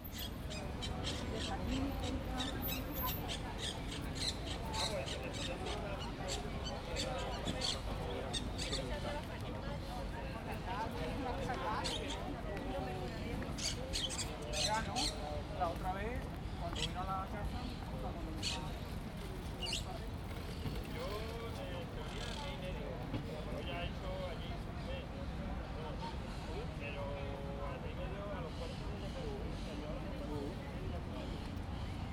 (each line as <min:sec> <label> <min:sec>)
0:00.0 symphony of exotic birds 0:09.2
0:10.8 symphony of exotic birds 0:12.3
0:13.4 symphony of exotic birds 0:15.3
0:17.6 symphony of exotic birds 0:21.2
0:22.0 symphony of exotic birds 0:22.7